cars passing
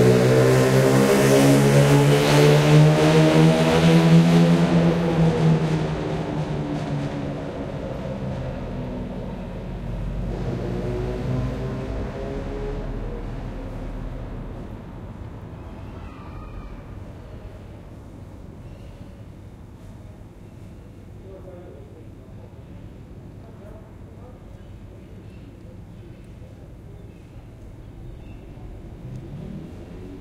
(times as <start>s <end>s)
0.0s 15.9s, 27.6s 30.2s